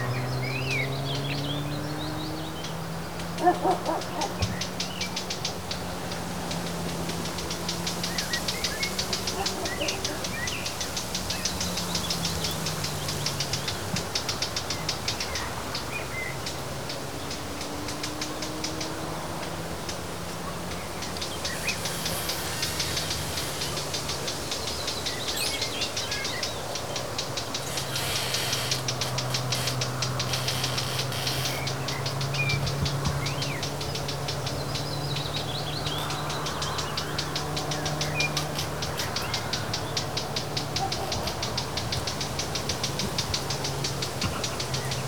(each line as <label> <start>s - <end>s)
cars 0.0s - 45.0s
dogs 3.4s - 4.6s
creaking branches 3.4s - 15.8s
dogs 9.1s - 10.5s
creaking branches 16.5s - 45.0s
swoosh of bushes 20.1s - 26.4s
bird cutting air with its sharp chirp 27.6s - 32.0s
dogs 40.6s - 41.5s